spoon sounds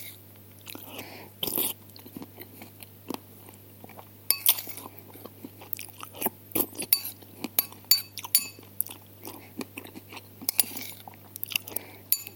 4.3s 4.8s, 6.8s 8.7s, 10.5s 11.0s, 12.1s 12.3s

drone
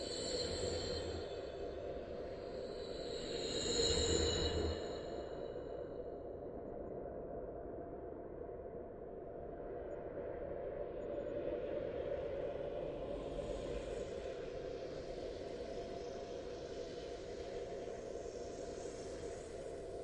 0.0s 5.6s

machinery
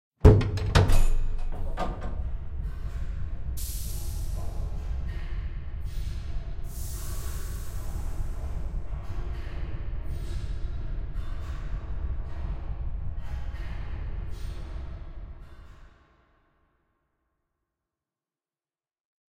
0.2s 10.4s

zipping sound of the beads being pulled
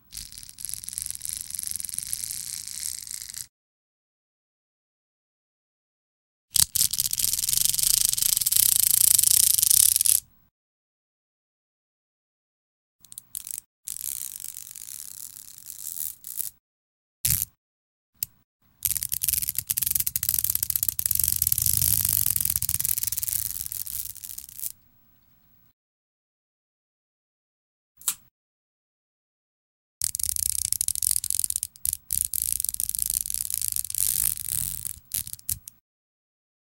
0.1s 3.5s, 6.6s 10.2s, 13.3s 16.6s, 17.3s 17.6s, 18.8s 24.8s, 30.0s 35.7s

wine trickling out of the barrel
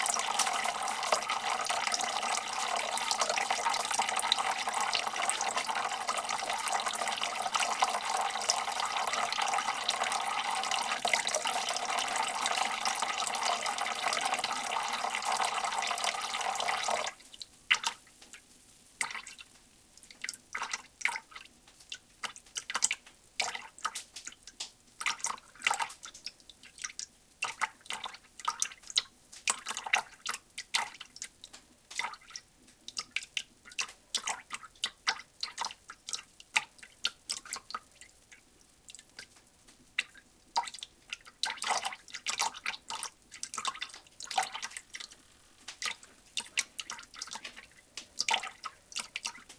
0.0s 17.2s

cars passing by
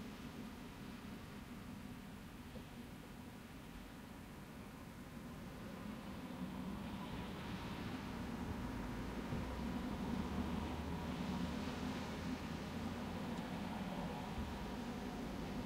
6.5s 15.6s

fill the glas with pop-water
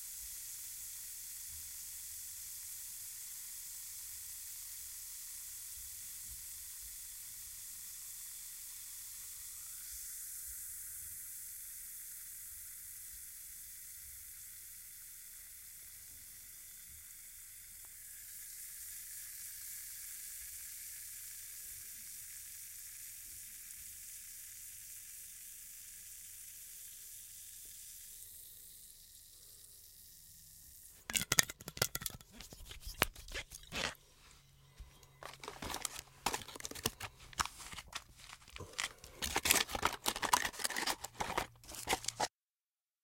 31.0s 34.0s

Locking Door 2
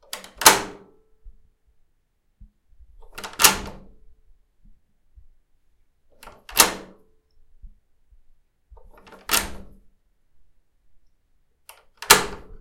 0.0s 0.9s, 3.0s 4.0s, 6.1s 7.0s, 8.8s 9.8s, 11.6s 12.6s

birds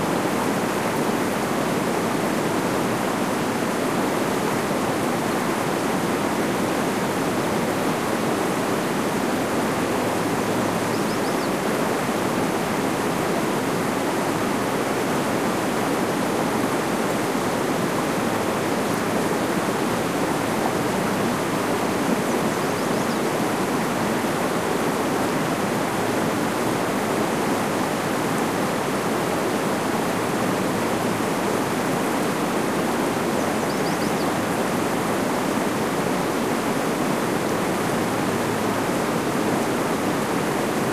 10.8s 11.7s, 22.2s 23.4s, 33.3s 34.4s

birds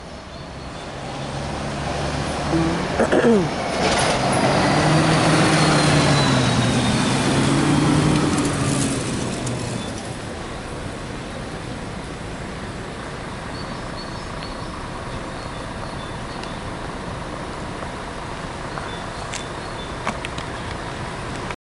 13.4s 16.9s, 18.6s 20.9s

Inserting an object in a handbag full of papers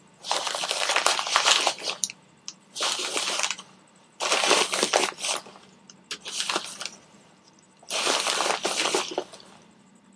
4.2s 7.0s, 7.9s 9.5s

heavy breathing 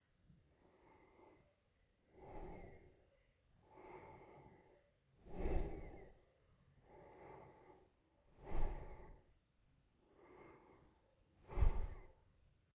0.5s 3.0s, 3.6s 6.2s, 6.8s 9.4s, 10.1s 12.2s

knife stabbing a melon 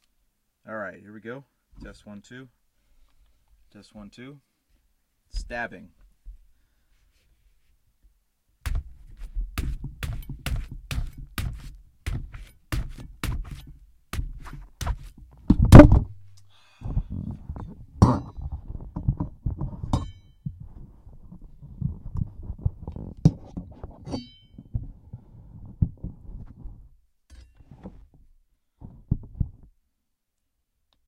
9.6s 15.1s

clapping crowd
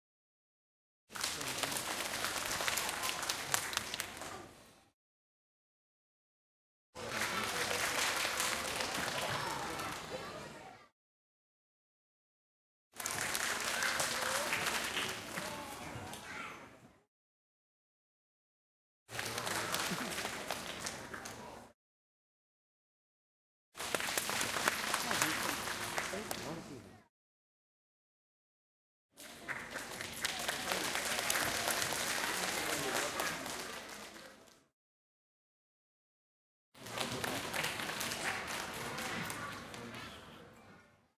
1.1s 4.5s, 7.0s 10.7s, 13.0s 16.4s, 19.1s 21.8s, 23.8s 26.8s, 29.2s 34.7s, 36.8s 40.4s

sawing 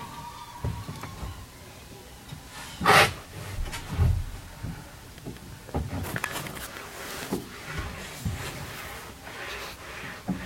2.7s 3.3s

